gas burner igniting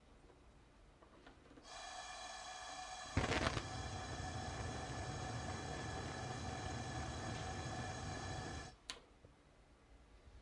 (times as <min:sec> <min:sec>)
0:01.7 0:08.8